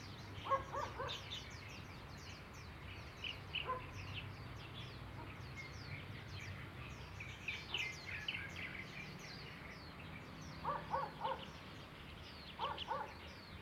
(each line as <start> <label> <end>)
0.0 Bird 13.6
0.4 Dog 1.2
3.6 Dog 3.9
10.6 Dog 11.5
12.6 Dog 13.2